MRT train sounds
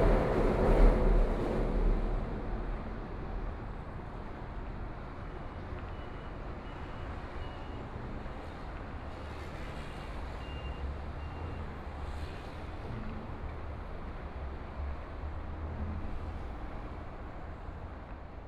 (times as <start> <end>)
0.0 11.0